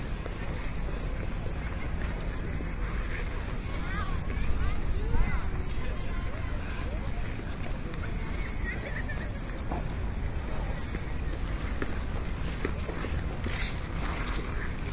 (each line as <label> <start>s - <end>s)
skating 0.2s - 14.9s